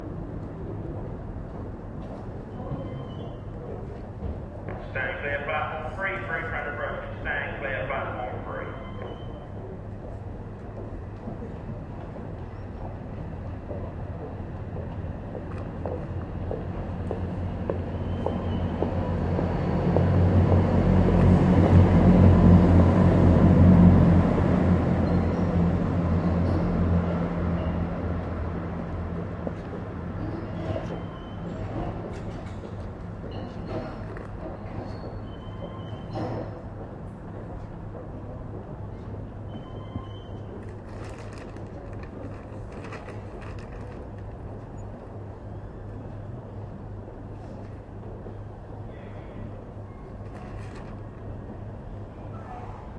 train goes past 0:00.0 - 0:52.9
loudspeaker announcement 0:04.8 - 0:09.0

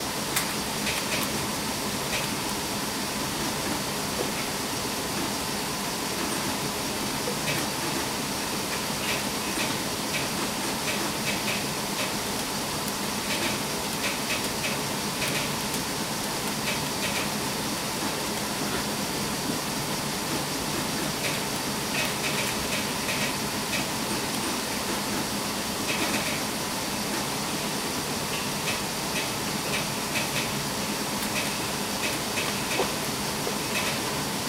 Letter sorting machine 0:07.4 - 0:19.3

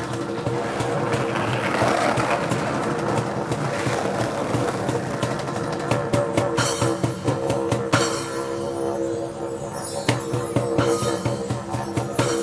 Didjeridoo Busker 0:00.0 - 0:12.4

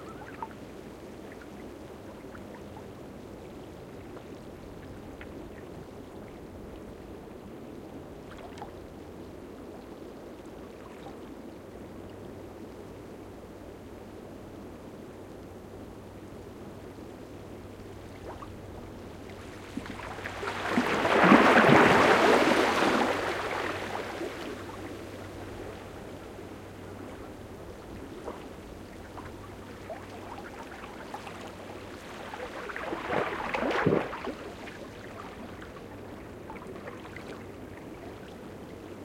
Quiet waves lapping again some rocks 0:00.0 - 0:12.3
Quiet waves lapping again some rocks 0:16.5 - 0:39.0
water moving through the seaweed 0:17.8 - 0:39.0

